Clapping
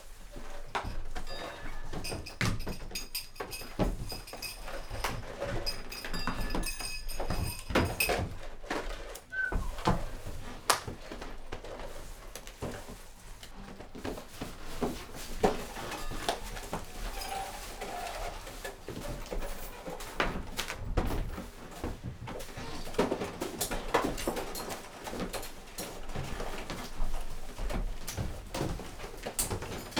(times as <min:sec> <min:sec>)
0:10.7 0:10.9